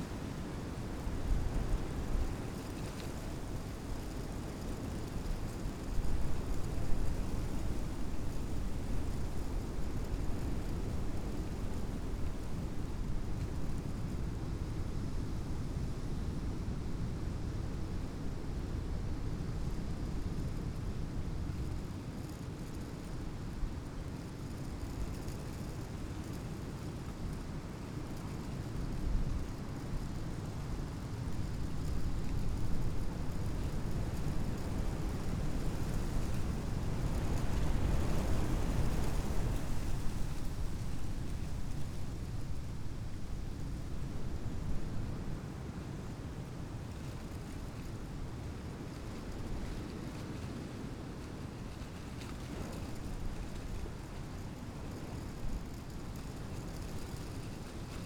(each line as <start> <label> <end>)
0.0 leaves of an old oak tree rustling in the wind 58.0